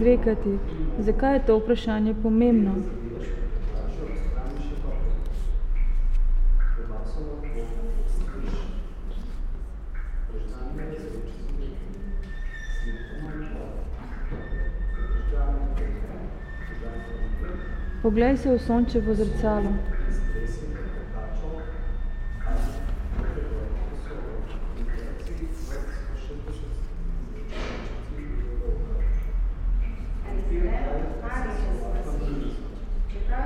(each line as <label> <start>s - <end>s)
Public reading 0.0s - 33.4s